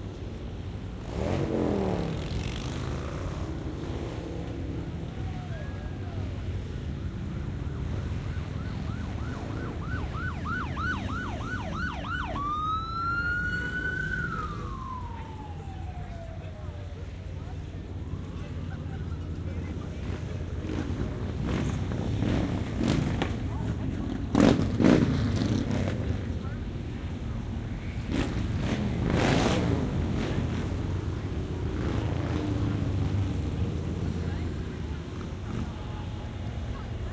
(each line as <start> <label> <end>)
0.0 cars 37.1
0.0 loud motorcycles streaming by revving their engines 37.1
4.6 sirens 21.0
5.1 people talking 7.1
8.8 crowd noise 37.1
14.2 people talking 24.6
25.8 people talking 27.5
29.8 people talking 37.1